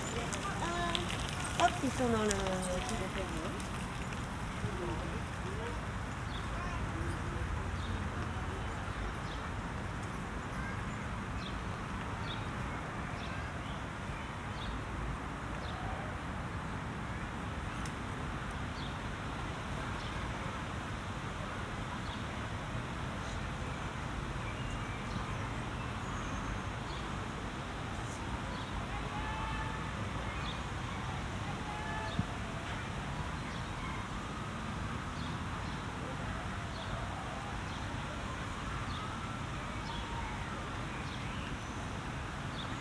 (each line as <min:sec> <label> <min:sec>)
0:00.0 distant cars 0:09.6
0:00.0 tramways 0:12.5
0:00.0 bikers 0:42.8